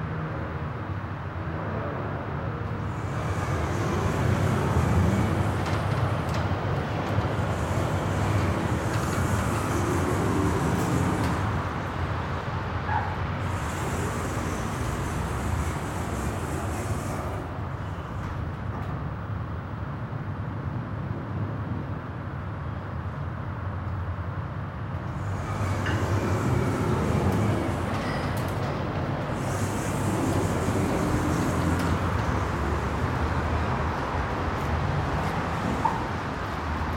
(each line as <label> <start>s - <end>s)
opening and closing of doors 2.8s - 12.2s
opening and closing of doors 12.8s - 19.0s
opening and closing of doors 25.0s - 36.9s